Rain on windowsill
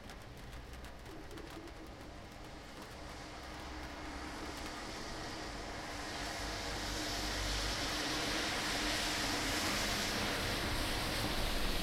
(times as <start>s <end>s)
0.0s 7.8s